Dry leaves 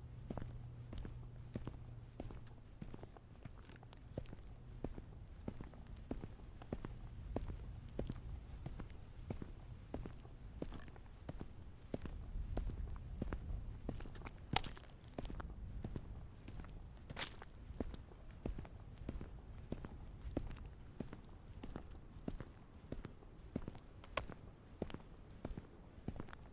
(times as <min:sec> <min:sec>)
0:17.2 0:17.5